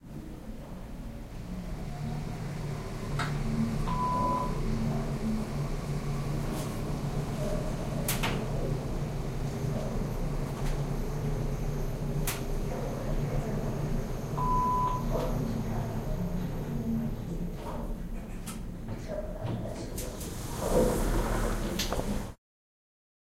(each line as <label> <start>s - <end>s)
elevator 1.6s - 17.4s
elevator 20.0s - 22.4s